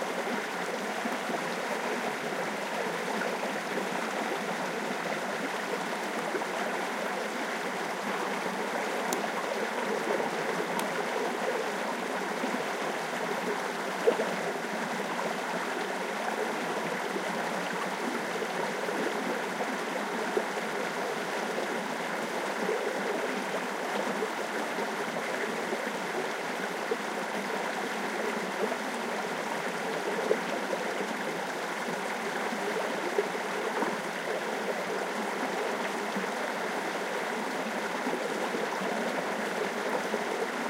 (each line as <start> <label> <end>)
0.0 small stream 40.6